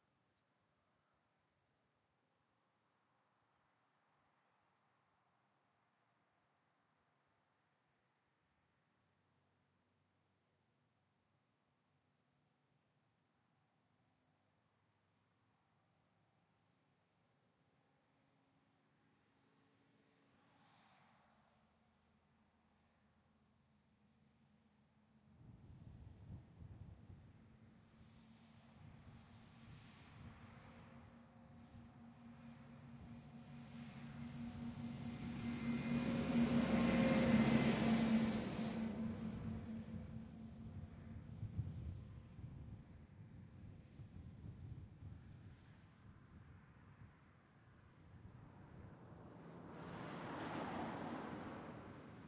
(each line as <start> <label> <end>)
16.1 Light intermittent wind 52.2
27.4 single vehicles (mainly cars and trucks) passing 42.5
30.0 Passing pair of cyclists 41.9
31.1 trucks can be heard labouring slightly 41.4
46.3 single vehicles (mainly cars and trucks) passing 52.2
48.4 Passing pair of cyclists 52.2